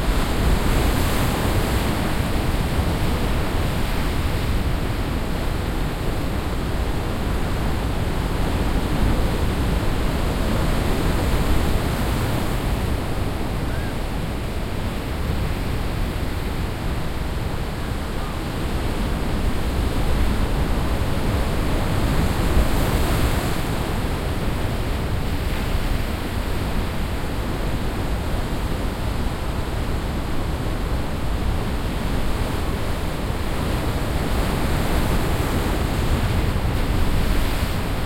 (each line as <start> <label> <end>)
0.0 wind on sand beach 38.0